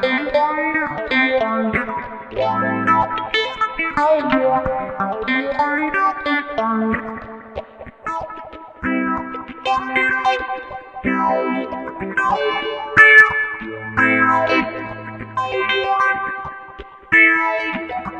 guitar 0.0 - 18.1

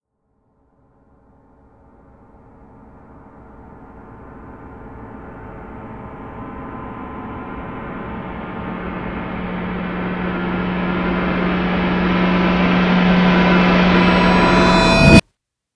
reversing and layering a number of percussion sounds 5.2 - 15.2

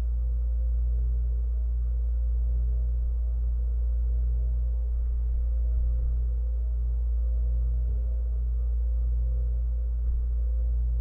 drone 0.0 - 11.0

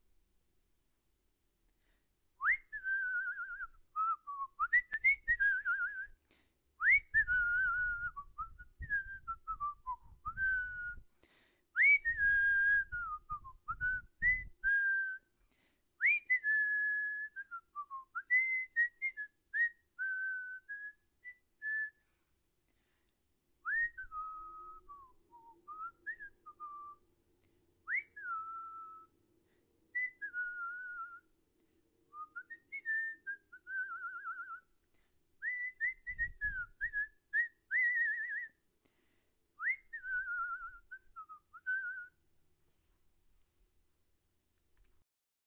random, tuneless whistling 2.4 - 6.2
random, tuneless whistling 6.8 - 11.1
random, tuneless whistling 11.7 - 15.3
random, tuneless whistling 16.0 - 22.1
random, tuneless whistling 23.6 - 27.0
random, tuneless whistling 27.8 - 29.2
random, tuneless whistling 29.9 - 31.4
random, tuneless whistling 32.1 - 34.8
random, tuneless whistling 35.4 - 38.6
random, tuneless whistling 39.6 - 42.2

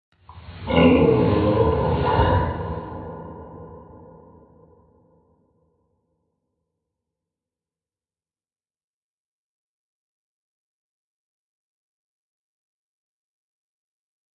growls 0.6 - 4.0

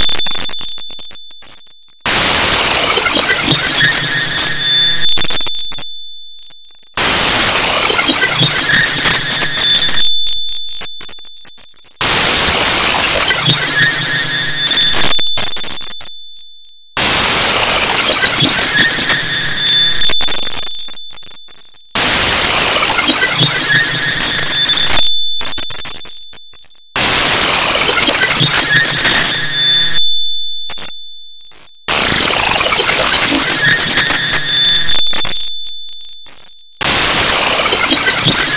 static 0.0 - 16.2
static 17.0 - 38.5

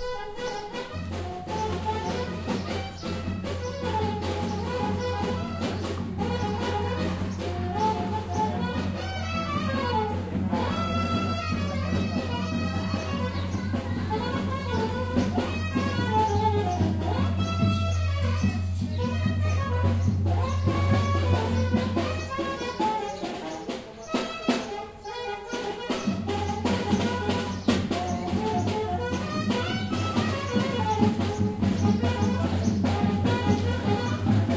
Folk Music Family Band playing on street 0.0 - 34.5
people 0.0 - 34.5

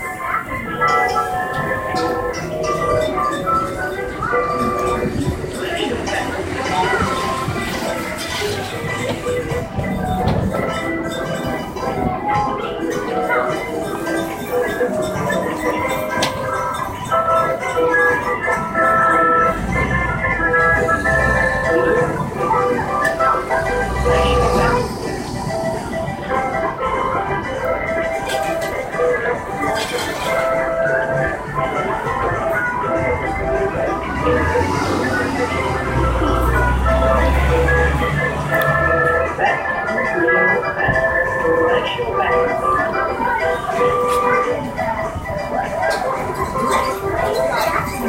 Fairground Organ 0.0 - 48.0

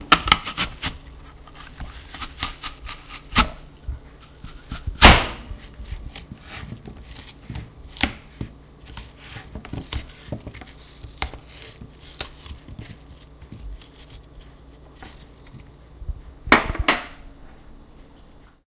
Chopping an apple with an apple wedger 0.0 - 15.6

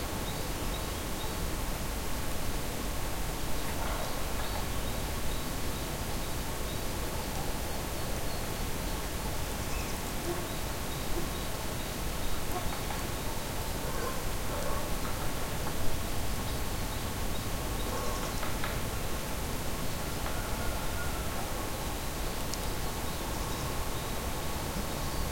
dog 13.8 - 14.9

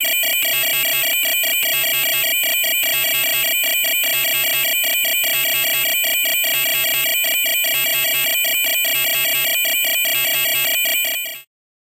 Phone Ring 0.0 - 11.5

